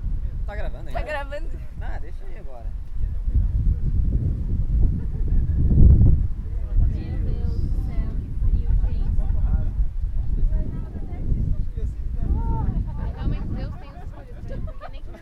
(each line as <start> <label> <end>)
0.0 group of friends that were camping 15.2